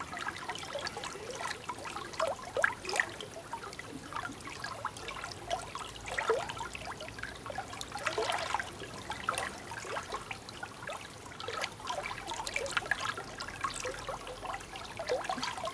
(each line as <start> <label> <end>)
0.0 river 15.7
0.0 small stream 15.7